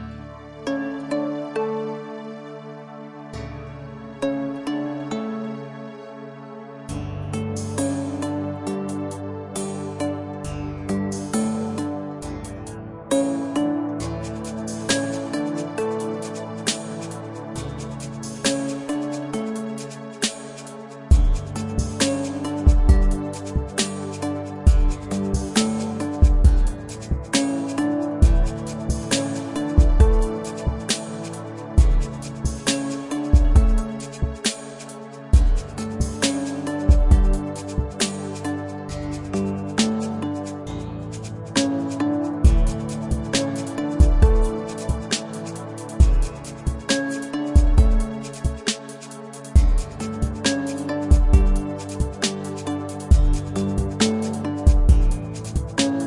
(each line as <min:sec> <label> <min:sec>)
0:13.1 drums 0:56.0